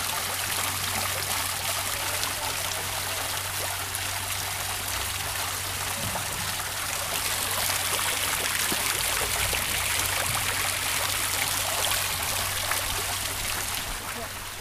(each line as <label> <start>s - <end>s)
fountain 0.0s - 14.6s